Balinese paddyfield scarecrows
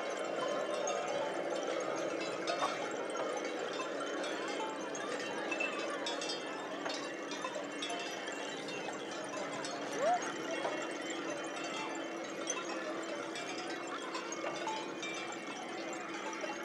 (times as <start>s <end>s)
7.6s 15.3s